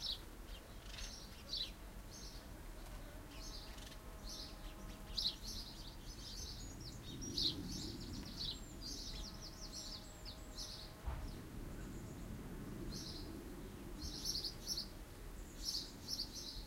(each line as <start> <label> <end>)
0.0 distant high flying aircraft 16.6
0.0 songbirds 16.6
0.0 wind in the trees 16.6
1.1 bees 12.2